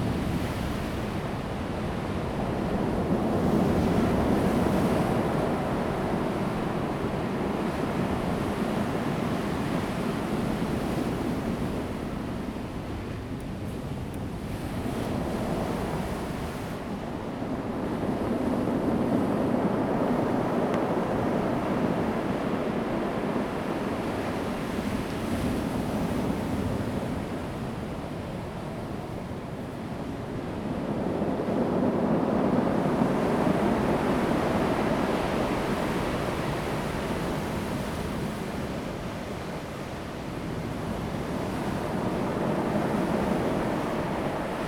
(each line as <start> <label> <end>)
0.0 waves 44.6
0.0 wind 44.6